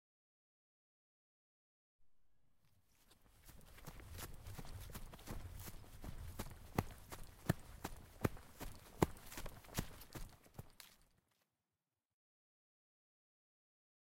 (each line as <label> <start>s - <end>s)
Running on grass 2.9s - 11.1s